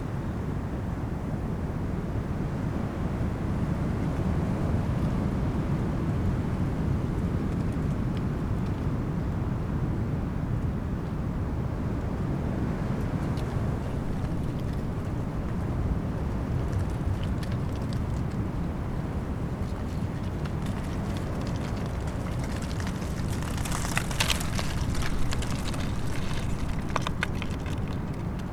dry leaves during storm 12.6 - 28.5

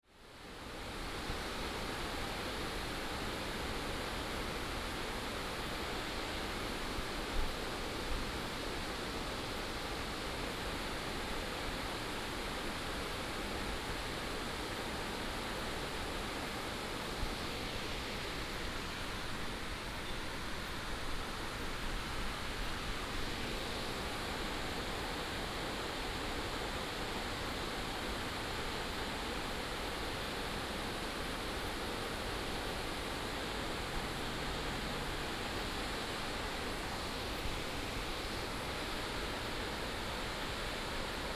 streams and waterfalls 0.0 - 41.3

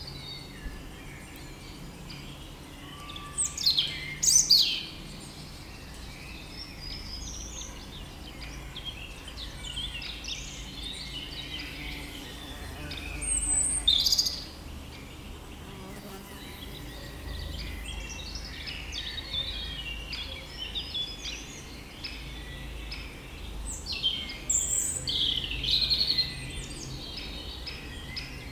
European Robin 0.0 - 28.5

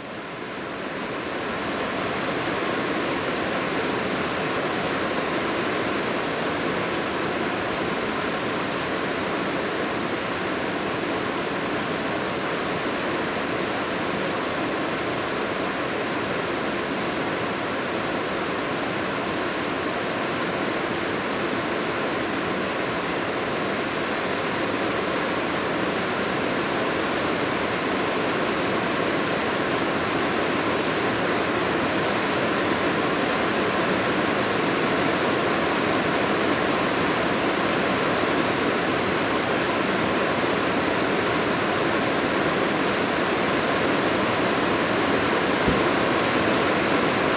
heavy rain 25.2 - 47.3

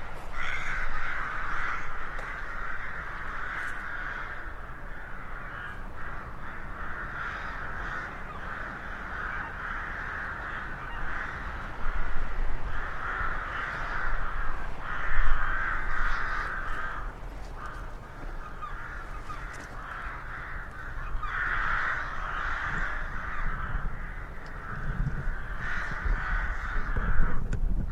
Crows 0.0 - 27.5

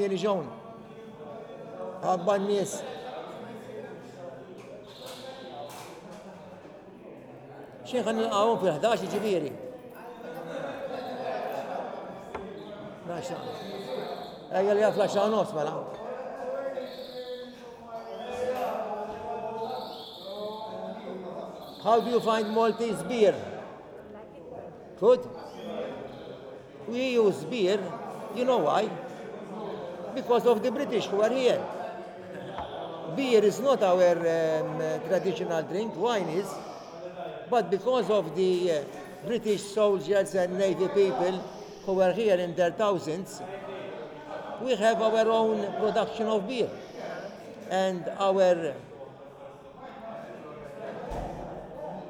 bird in a cage tweeting 12.4 - 15.4
bird in a cage tweeting 16.8 - 18.3
bird in a cage tweeting 19.6 - 20.6
bird in a cage tweeting 21.6 - 23.1

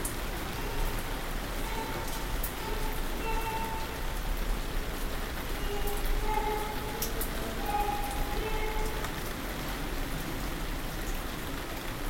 rain on a plastic roof 0.0 - 12.0

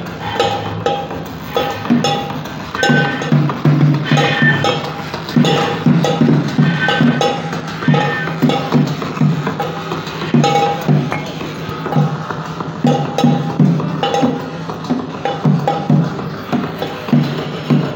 noise perfomance 0.0 - 17.9

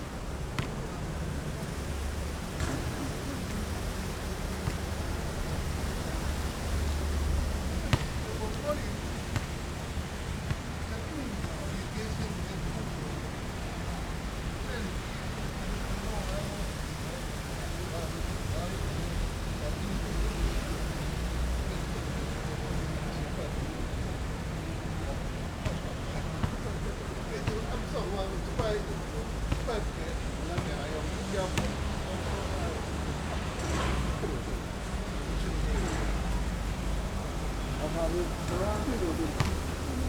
Playing basketball sound 0.1 - 17.8
Playing basketball sound 22.6 - 35.2
Playing basketball sound 35.8 - 40.0

